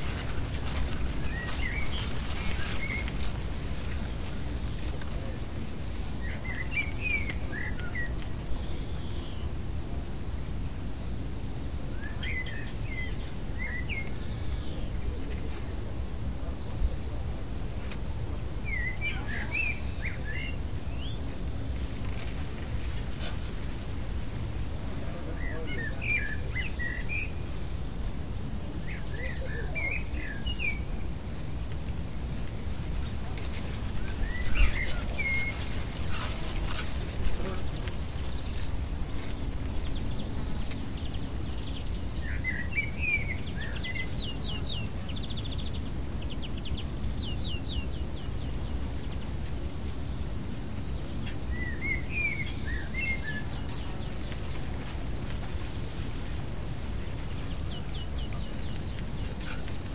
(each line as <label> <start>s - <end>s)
Birds 0.0s - 59.9s
light wind in the corn 0.0s - 59.9s